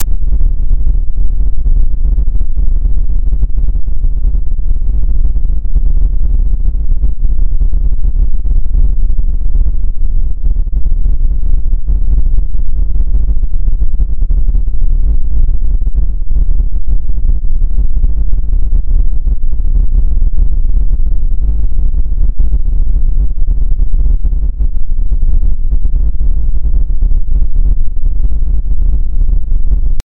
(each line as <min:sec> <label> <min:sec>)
0:00.0 noise 0:30.0